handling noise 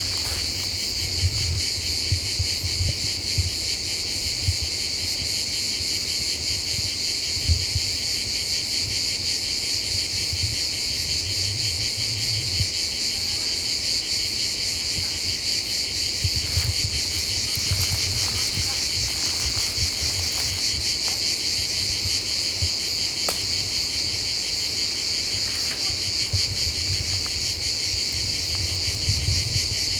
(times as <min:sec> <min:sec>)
0:16.3 0:21.9, 0:23.2 0:29.1